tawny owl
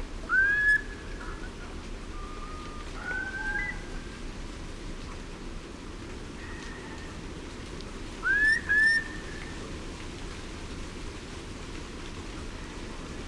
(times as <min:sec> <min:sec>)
0:02.2 0:03.9